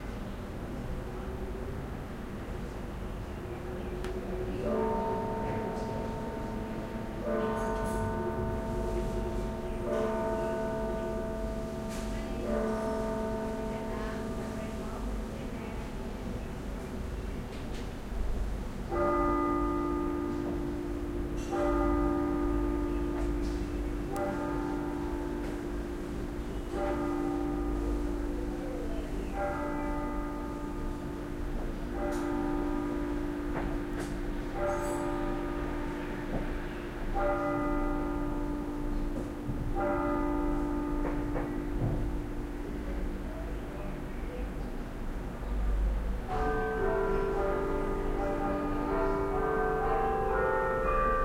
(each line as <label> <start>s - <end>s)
church bell 4.0s - 51.2s